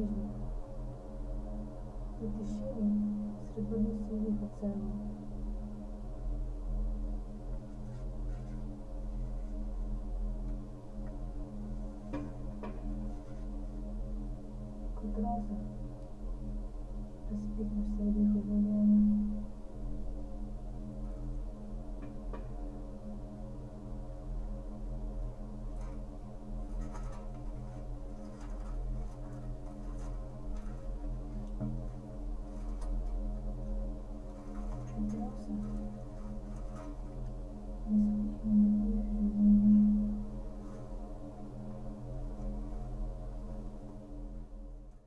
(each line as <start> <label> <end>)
26.7 reading from strips of paper 33.2
34.3 reading from strips of paper 37.3